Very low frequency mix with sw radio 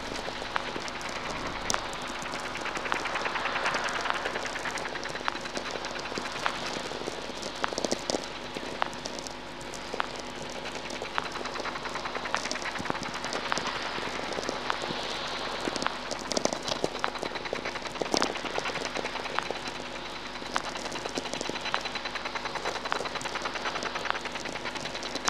0.0 6.4

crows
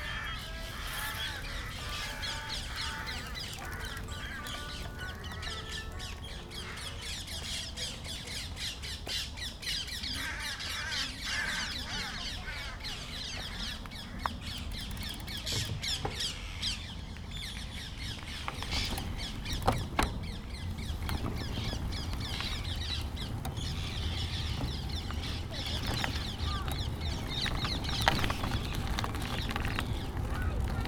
0.0 7.6, 8.9 14.6, 23.6 29.4, 30.2 30.8

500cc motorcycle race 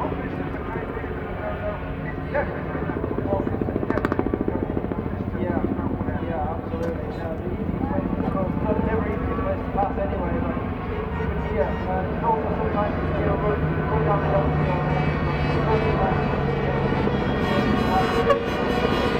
8.2 19.1

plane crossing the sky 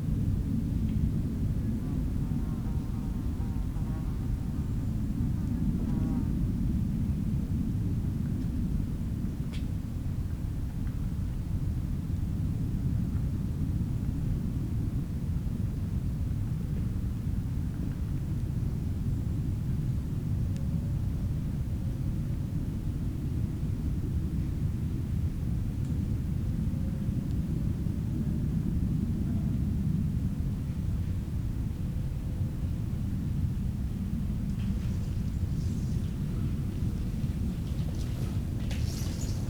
33.9 39.4

